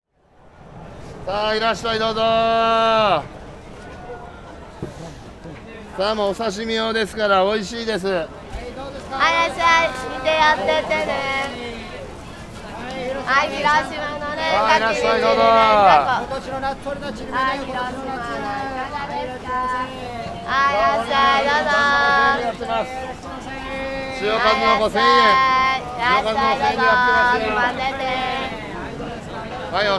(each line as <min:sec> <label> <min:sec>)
0:00.2 people 0:29.9